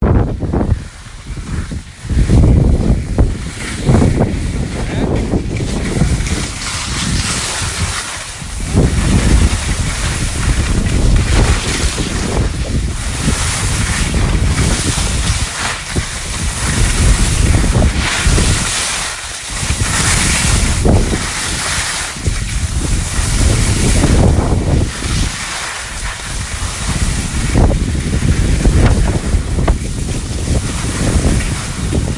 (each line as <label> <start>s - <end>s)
skiing down a mountain 0.0s - 32.1s